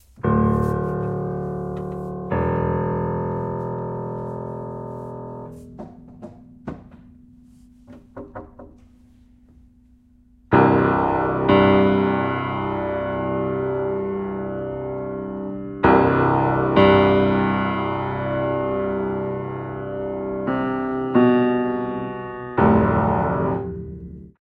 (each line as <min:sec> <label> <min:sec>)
0:00.0 Upright Piano 0:24.4